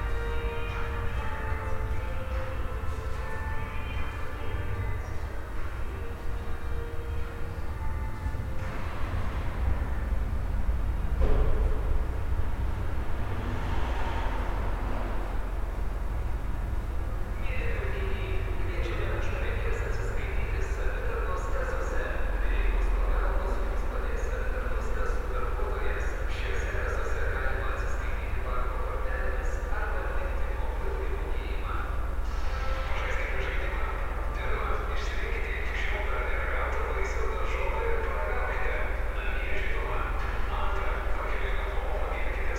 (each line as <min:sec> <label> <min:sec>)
0:04.5 Cars driving around 0:21.3